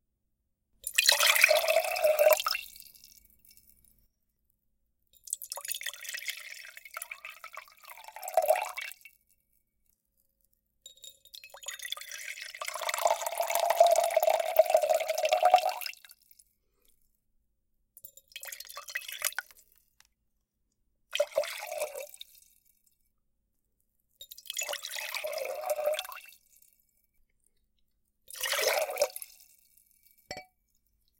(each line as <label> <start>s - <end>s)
pour water in pewter mug 0.8s - 2.9s
pour water in pewter mug 5.3s - 9.0s
pour water in pewter mug 11.6s - 16.2s
pour water in pewter mug 18.3s - 19.6s
pour water in pewter mug 21.2s - 22.5s
pour water in pewter mug 24.4s - 26.7s
pour water in pewter mug 28.3s - 29.7s